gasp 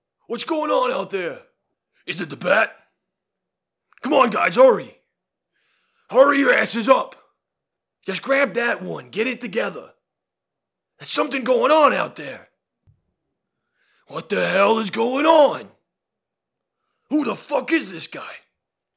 0:05.5 0:06.1, 0:13.5 0:14.1

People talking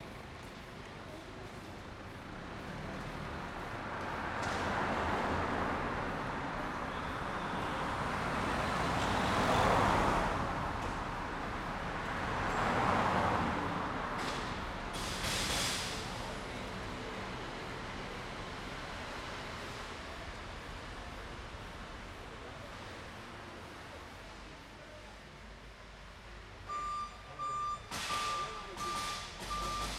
0:00.7 0:01.8, 0:26.7 0:29.9

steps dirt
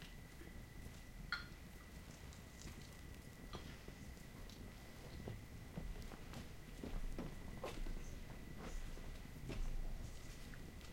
0:04.5 0:10.9

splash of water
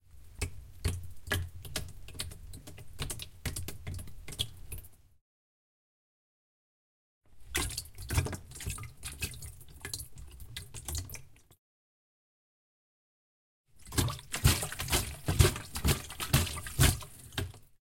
0:13.8 0:17.7

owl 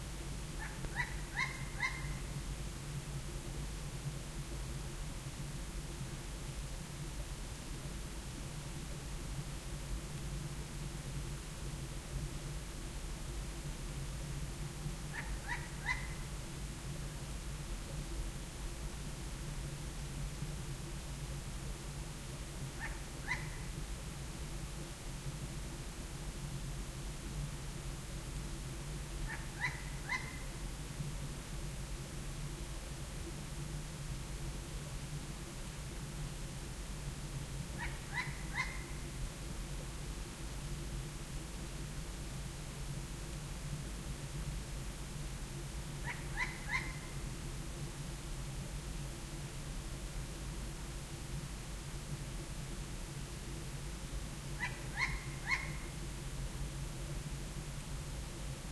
0:00.6 0:02.4, 0:15.1 0:16.3, 0:22.7 0:23.8, 0:29.2 0:30.6, 0:37.7 0:39.2, 0:46.0 0:47.3, 0:54.5 0:56.1

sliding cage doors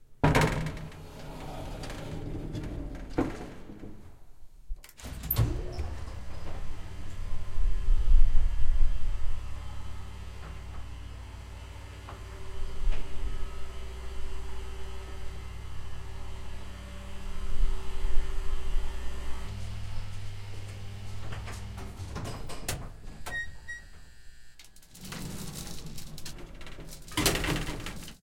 0:00.2 0:04.2, 0:04.9 0:07.3, 0:19.2 0:24.0, 0:24.6 0:28.2

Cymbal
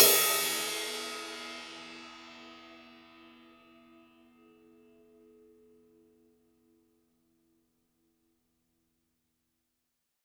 0:00.0 0:05.7

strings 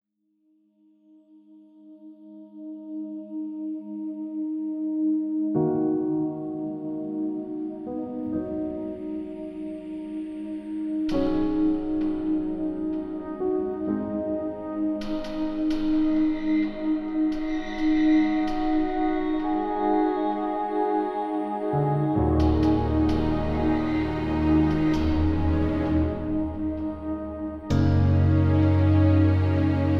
0:11.0 0:29.9

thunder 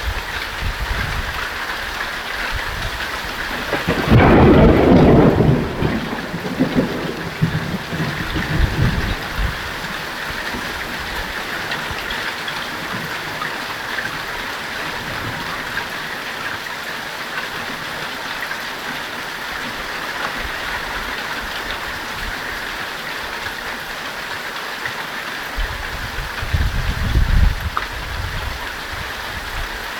0:02.8 0:12.0

